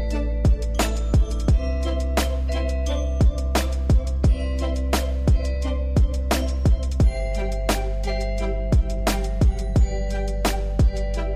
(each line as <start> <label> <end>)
0.0 Beat Background Music 11.3
0.0 synth 11.3